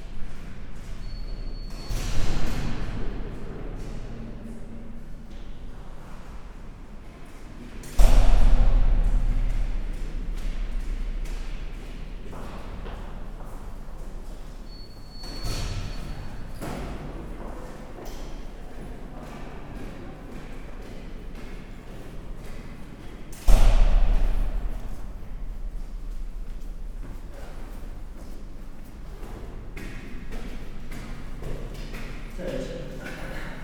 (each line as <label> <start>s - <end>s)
workers going up the stairs 0.0s - 33.6s
big, fireproof doors slamming on various floors 1.6s - 4.3s
big, fireproof doors slamming on various floors 7.8s - 17.4s
big, fireproof doors slamming on various floors 23.4s - 27.0s